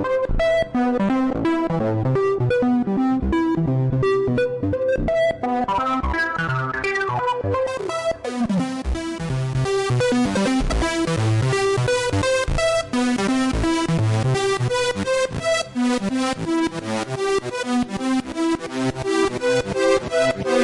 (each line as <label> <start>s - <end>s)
Synthesizer 0.0s - 20.6s